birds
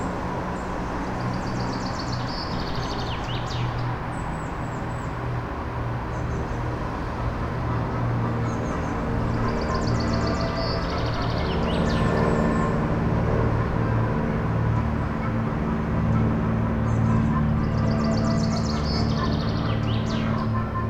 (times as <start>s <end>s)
16.8s 20.8s